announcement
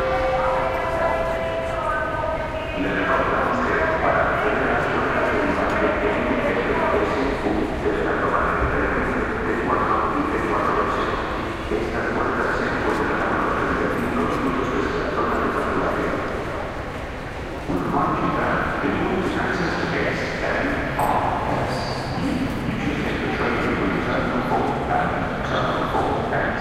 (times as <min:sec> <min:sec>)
0:00.0 0:16.8